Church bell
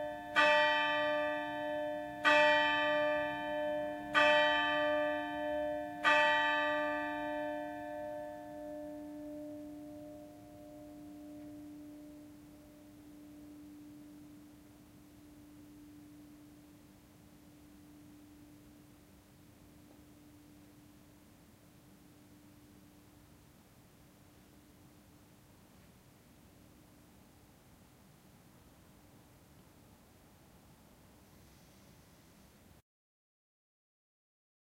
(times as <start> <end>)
0.0 23.1